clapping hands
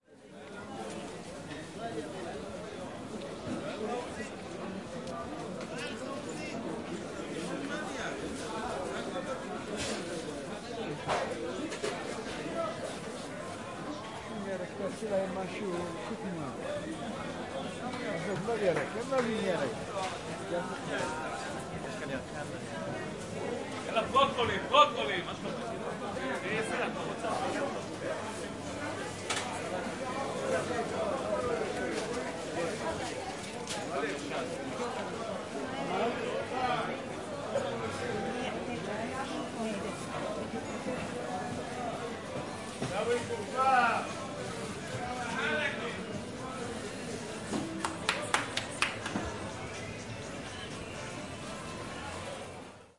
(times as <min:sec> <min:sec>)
0:47.8 0:49.3